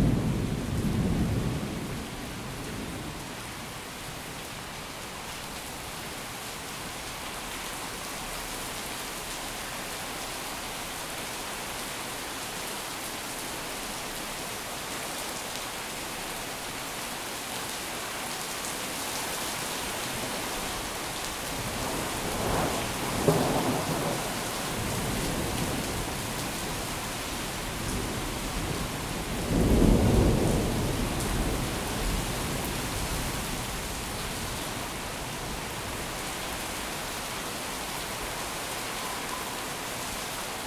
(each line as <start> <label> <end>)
0.0 heavy rain 40.6